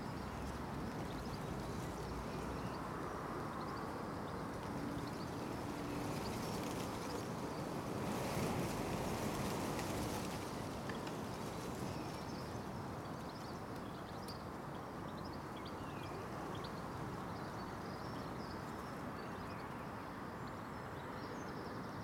chill wind gusts 0.0 - 22.0

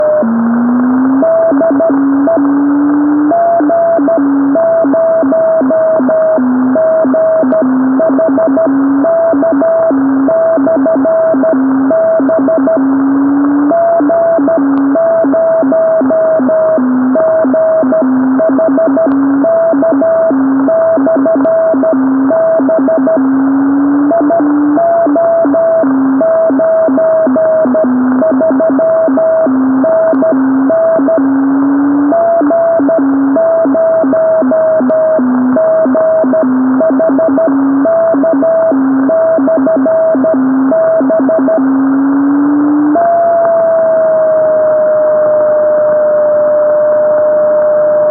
beacon 0.0 - 45.6

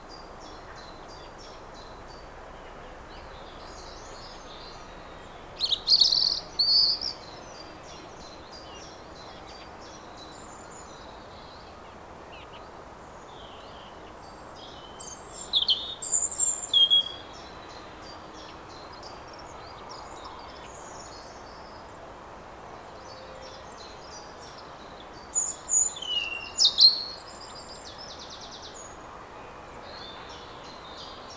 Birds 22.7 - 31.3

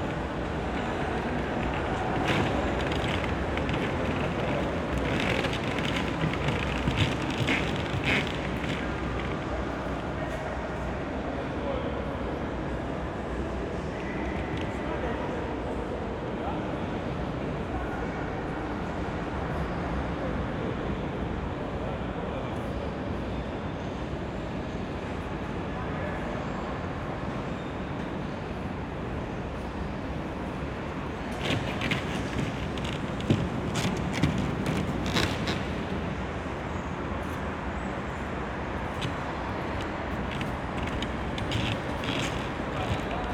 steps of passers-by on a piece of wood on the floor 0.0 - 10.1
steps of passers-by on a piece of wood on the floor 31.0 - 36.1
steps of passers-by on a piece of wood on the floor 38.9 - 43.3

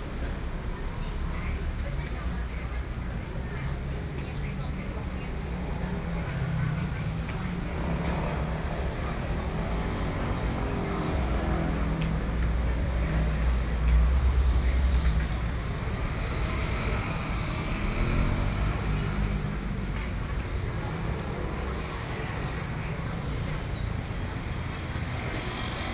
traffic noise 0.0 - 25.9

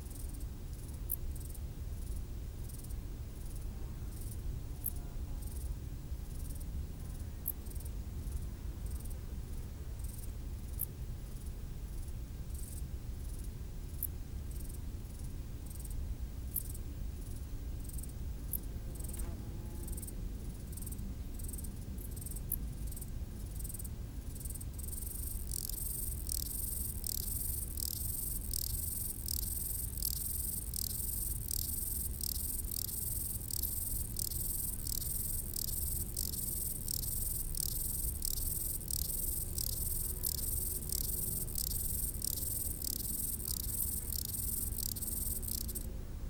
stridulations des criquets sur le talus 24.4 - 45.9

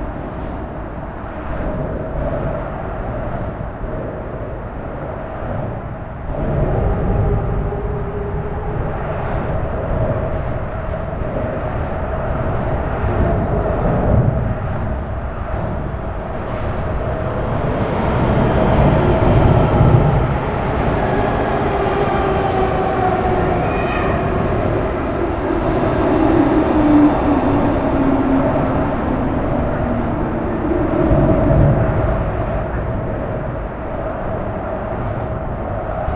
suburban train arrives at the station 0.0 - 36.1

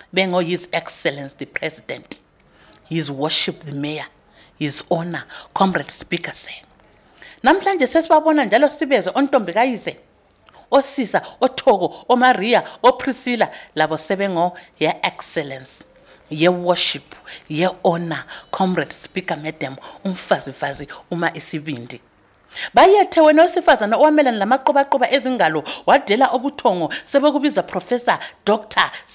poem in Ndebele 7.2 - 29.1

